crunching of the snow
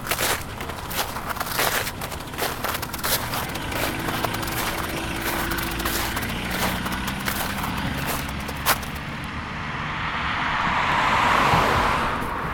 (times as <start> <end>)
0.0 9.2